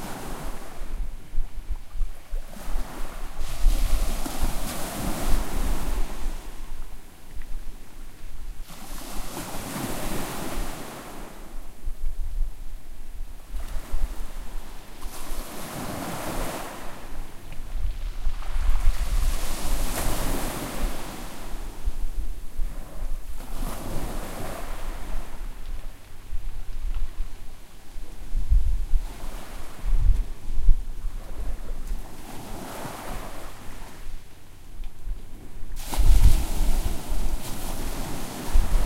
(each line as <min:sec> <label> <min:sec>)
0:35.8 Waves washing up on pebbled shore 0:38.8